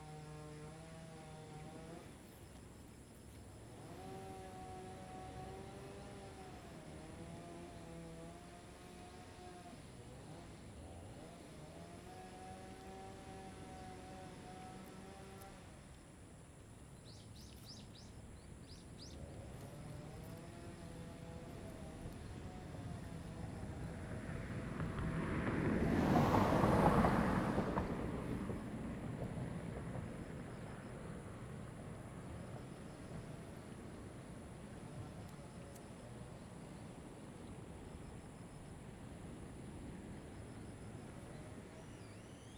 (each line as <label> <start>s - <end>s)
Traffic Sound 19.0s - 42.5s